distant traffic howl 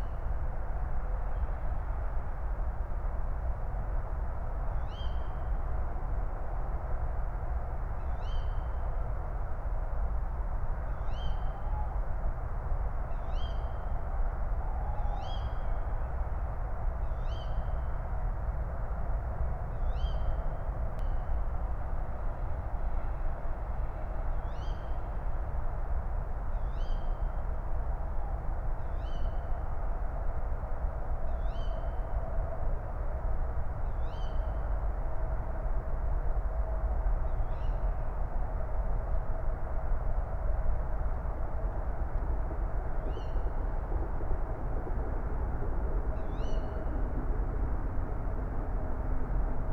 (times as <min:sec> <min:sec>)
0:39.5 0:49.7